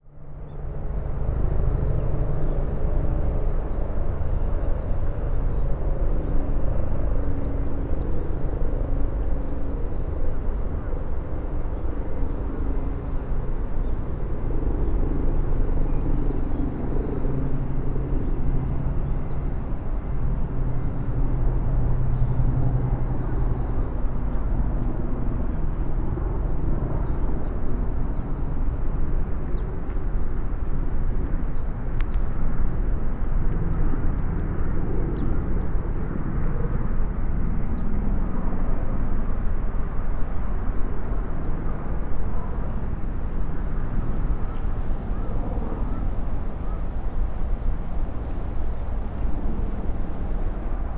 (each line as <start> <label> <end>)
0.0 helicopter 50.9